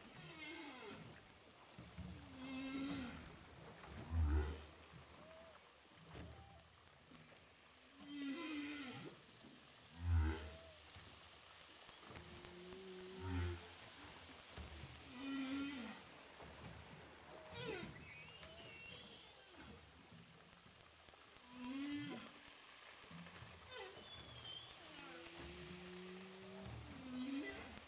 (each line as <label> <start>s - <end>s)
Whales sound 21.4s - 22.5s
Whales sound 23.3s - 27.8s